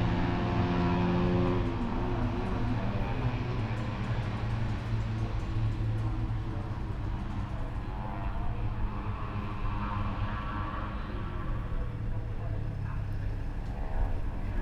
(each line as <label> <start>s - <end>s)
motorcycle 0.0s - 14.6s